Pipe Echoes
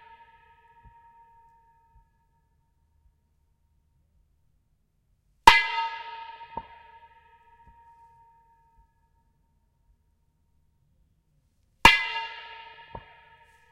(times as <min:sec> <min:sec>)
0:11.9 0:13.7